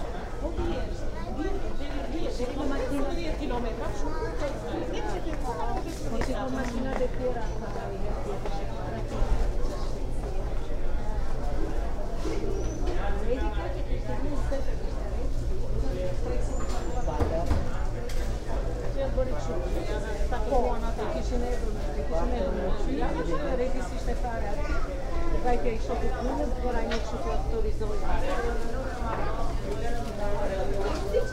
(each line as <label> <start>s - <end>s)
conversation 0.0s - 31.3s